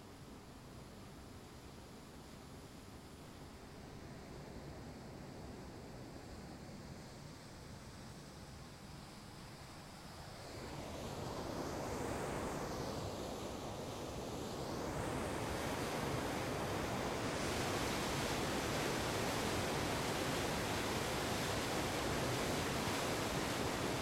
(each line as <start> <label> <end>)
7.9 river 24.0
13.0 waterfall 24.0